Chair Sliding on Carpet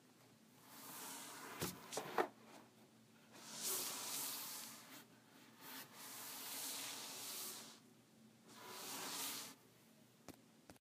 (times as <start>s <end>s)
8.5s 9.6s